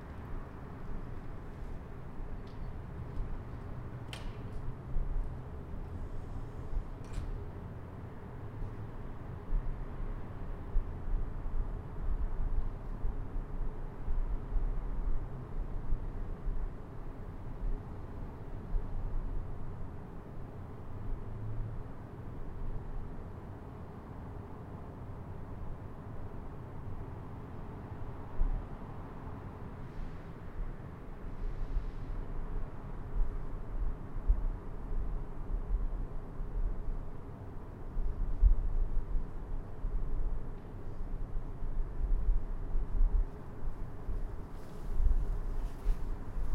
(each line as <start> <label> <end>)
0.0 windy 46.5